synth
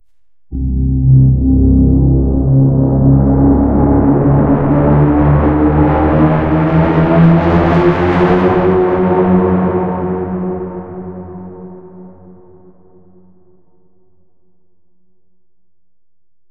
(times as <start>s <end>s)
0.5s 7.8s